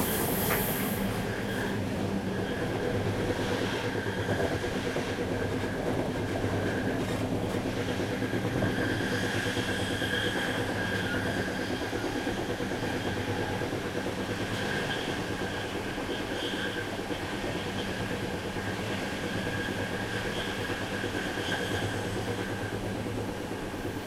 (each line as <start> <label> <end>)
0.0 train 24.0